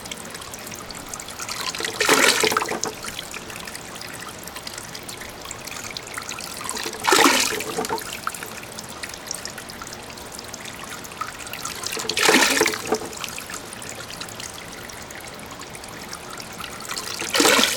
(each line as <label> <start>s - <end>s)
Mecanic fountain 0.0s - 17.7s